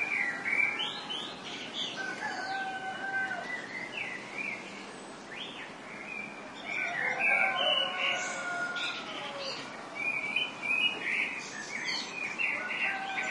dawn chorus 0:00.0 - 0:13.3
cocks 0:02.0 - 0:03.5
cocks 0:06.7 - 0:09.6
cocks 0:12.6 - 0:13.3

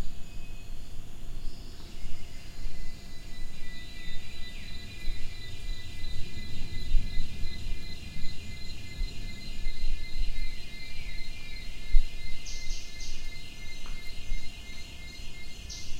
insects 0:00.0 - 0:15.9

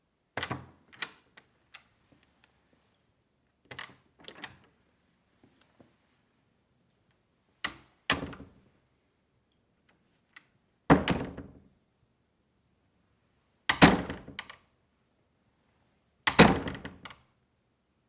Hollow wooden door opening and closing 0:00.3 - 0:02.3
Hollow wooden door opening and closing 0:03.6 - 0:04.8
Hollow wooden door opening and closing 0:07.6 - 0:08.7
Hollow wooden door opening and closing 0:09.8 - 0:11.7
Hollow wooden door opening and closing 0:13.6 - 0:14.8
Hollow wooden door opening and closing 0:16.2 - 0:17.4

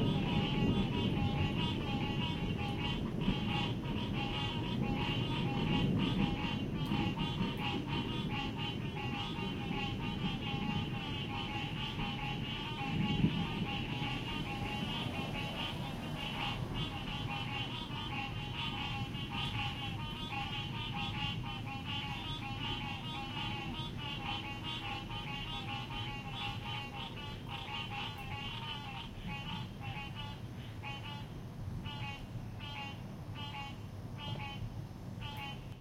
rolling thunder sound 0:00.0 - 0:27.6
frogs were singing 0:00.0 - 0:34.6
frogs were singing 0:35.2 - 0:35.7

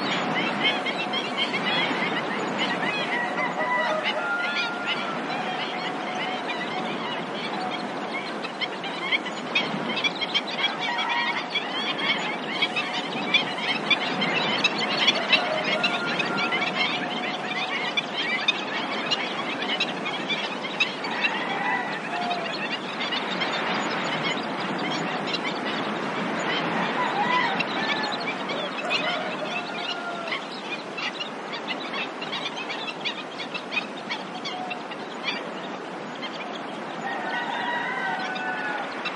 cockerel crowing 0:03.1 - 0:05.8
cockerel crowing 0:15.1 - 0:17.1
cockerel crowing 0:26.9 - 0:30.4
cockerel crowing 0:37.0 - 0:39.0

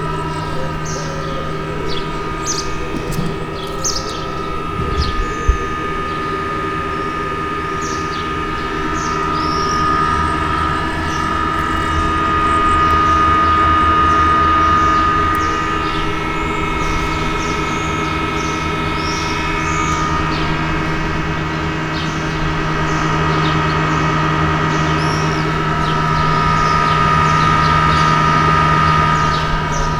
construction work 0:00.0 - 0:29.9
fan 0:00.0 - 0:29.9

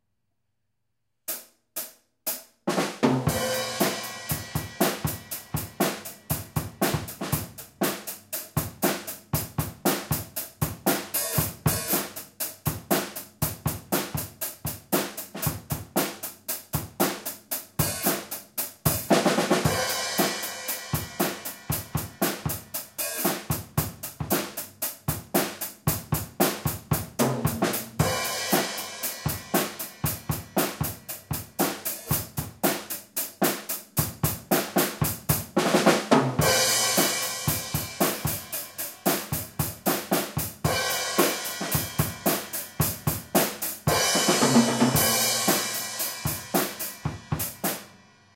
rock drum beat 0:01.3 - 0:48.3

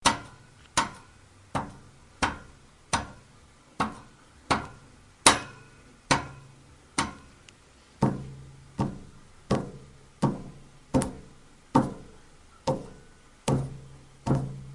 hits and taps of a finger on a metal radiator 0:00.0 - 0:07.3
hits and taps of a finger on a metal radiator 0:08.0 - 0:14.7

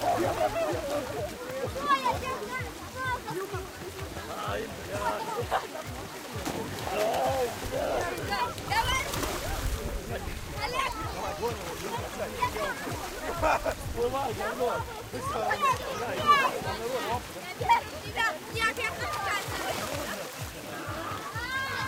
water splashes 0:00.0 - 0:21.8
gurgling 0:05.4 - 0:13.7

